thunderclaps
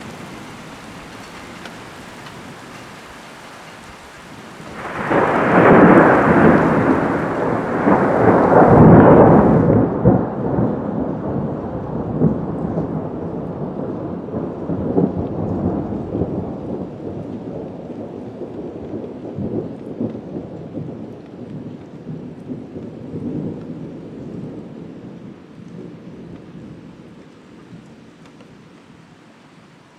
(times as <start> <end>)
4.2 27.1